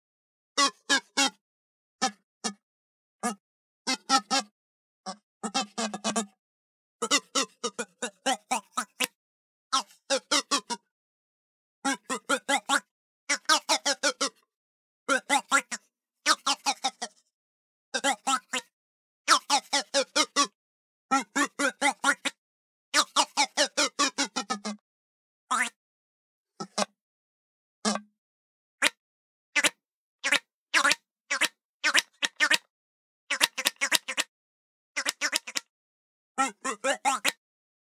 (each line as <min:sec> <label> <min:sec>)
0:36.4 Groan Toy 0:37.4